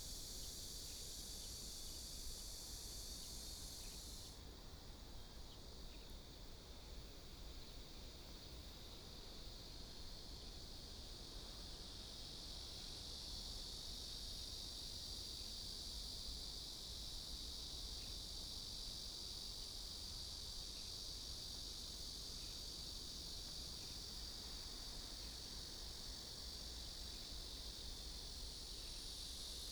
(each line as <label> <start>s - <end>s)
Cicadas sound 0.0s - 6.4s
Cicadas sound 7.3s - 29.7s